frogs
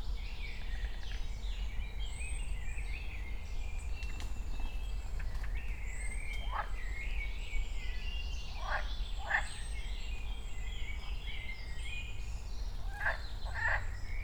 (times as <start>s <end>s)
6.3s 7.2s, 8.4s 11.2s, 12.6s 14.2s